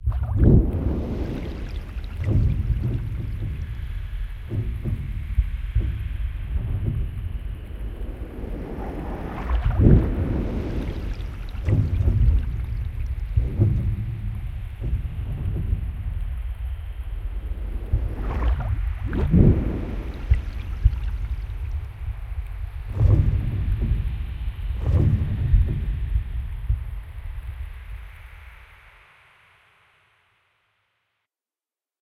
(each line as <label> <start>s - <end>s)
jellyfish swims in the sea 0.0s - 30.2s